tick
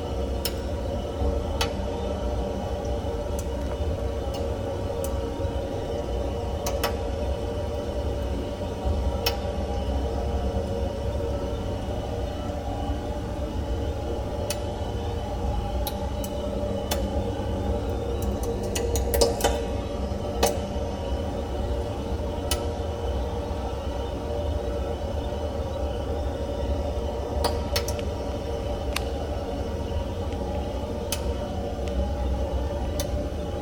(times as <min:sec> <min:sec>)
0:31.1 0:32.0